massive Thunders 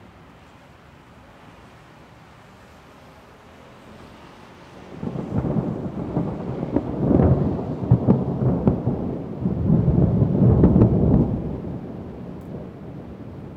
5.0 13.5

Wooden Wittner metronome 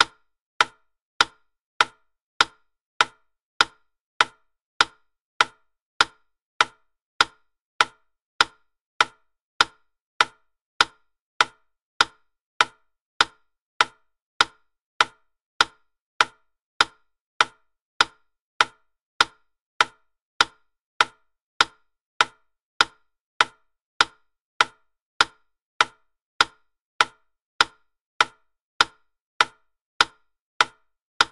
27.1 31.3

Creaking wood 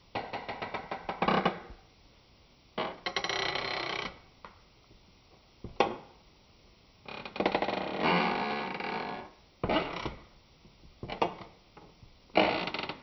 12.4 13.0

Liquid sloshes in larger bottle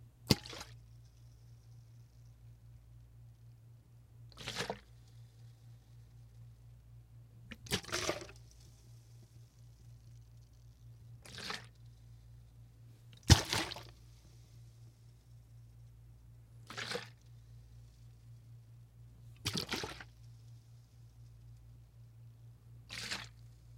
0.3 0.8, 4.3 5.1, 7.5 8.8, 11.2 11.9, 13.1 14.1, 16.6 17.3, 19.4 20.2, 22.9 23.4

